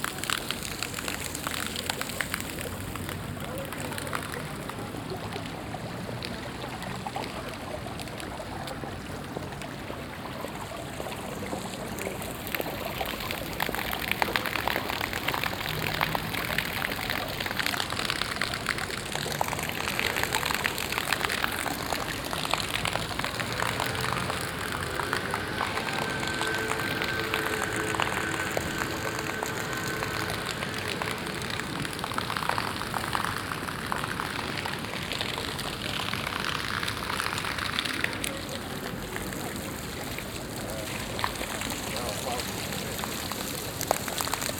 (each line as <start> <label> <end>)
0.0 playful water fountain 44.5
19.4 Passanten 33.5